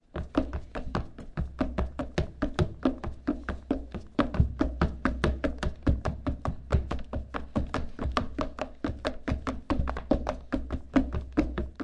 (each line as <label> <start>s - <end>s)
running on wood with sneakers 0.0s - 11.8s